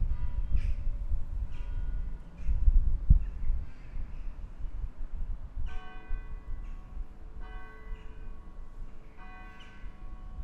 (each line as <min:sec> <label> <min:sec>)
0:00.0 wind 0:10.4
0:01.5 bells 0:02.6
0:05.6 bells 0:10.4